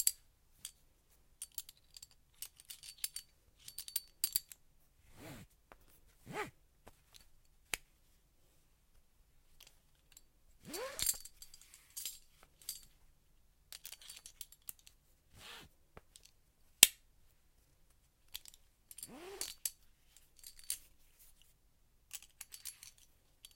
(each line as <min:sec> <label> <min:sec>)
0:01.4 belt buckle 0:07.9
0:09.5 belt buckle 0:13.0
0:13.7 belt buckle 0:17.0
0:17.9 belt buckle 0:23.5